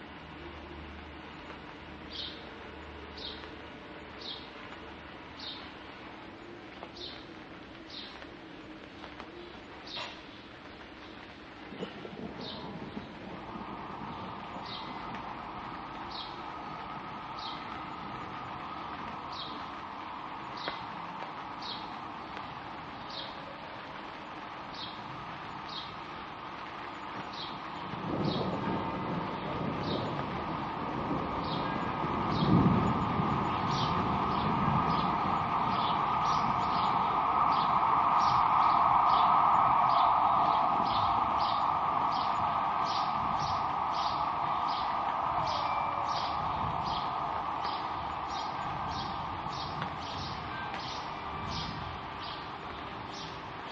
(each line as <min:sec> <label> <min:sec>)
0:00.0 distant sound of traffic 0:53.7
0:00.0 rain 0:53.7
0:00.3 singing birds 0:13.2
0:14.4 singing birds 0:53.7
0:27.8 drawing on thunder 0:50.5
0:45.4 chiming of the town hall clock 0:46.8